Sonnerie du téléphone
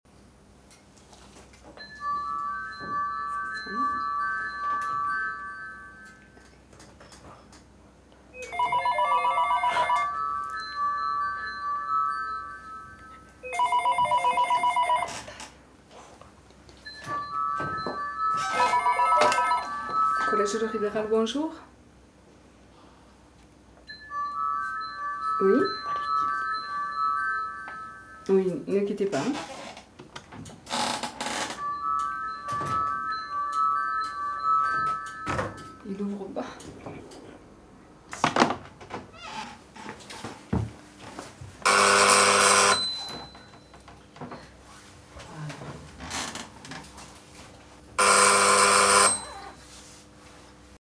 8.4 15.3, 16.9 21.1, 41.7 43.6, 48.0 49.6

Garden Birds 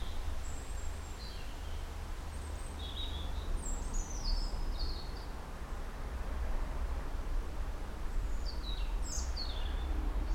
0.0 5.3

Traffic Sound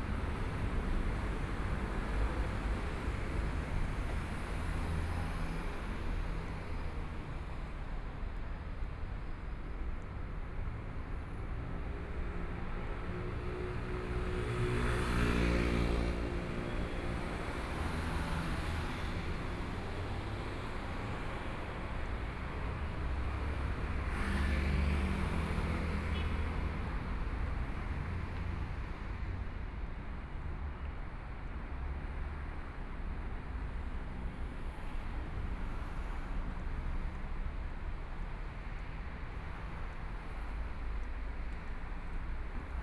12.0 42.8

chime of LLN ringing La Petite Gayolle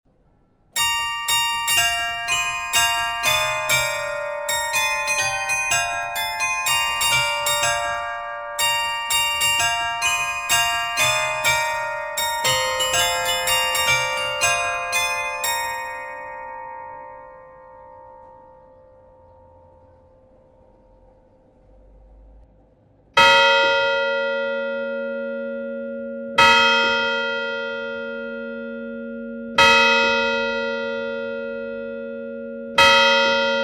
0.8 20.8

